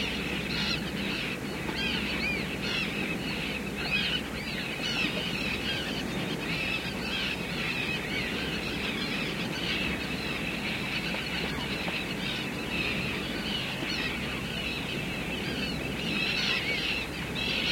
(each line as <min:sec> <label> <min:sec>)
0:00.0 big flock of screeching seagulls 0:17.7
0:00.0 constant hum of engines 0:17.7